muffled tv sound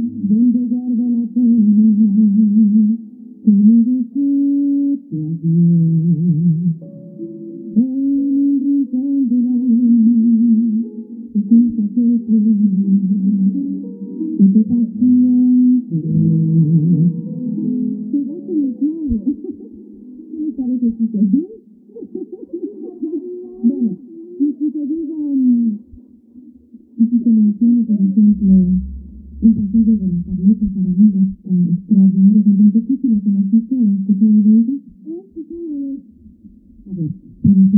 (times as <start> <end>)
17.6 28.3, 32.0 37.7